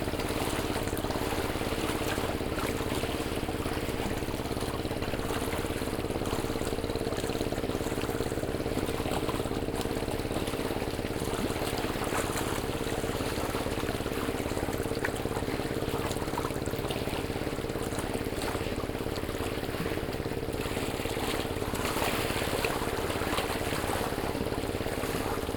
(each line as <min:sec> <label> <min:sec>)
0:00.0 rigs moving out on the lake 0:25.5